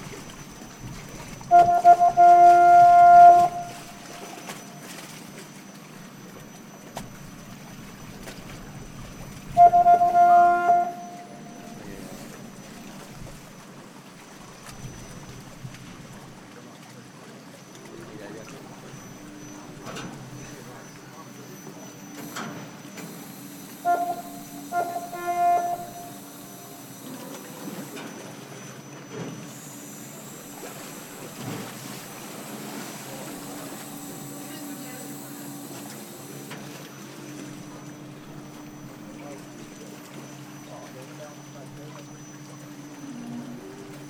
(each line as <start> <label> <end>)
0.0 cableway at sea 44.0